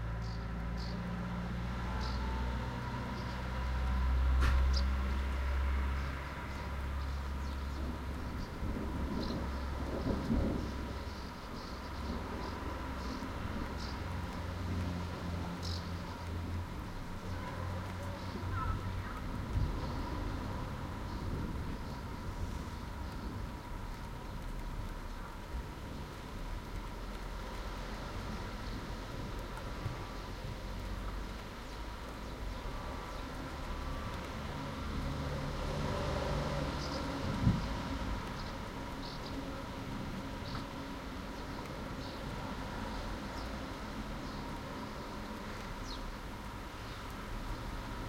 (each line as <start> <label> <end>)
0.0 rain 48.0
0.0 traffic at the bottom of the road 48.0
0.1 bird song 1.1
6.0 bird song 14.1
8.6 thunder 11.0
15.6 bird song 20.2
42.9 bird song 46.2